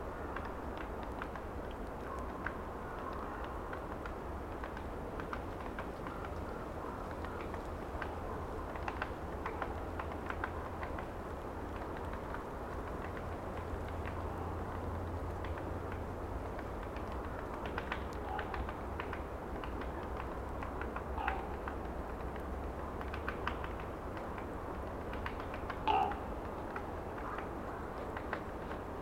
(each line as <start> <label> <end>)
0.0 Wind in trees 29.0
16.8 woodpecker 21.9
25.1 woodpecker 28.4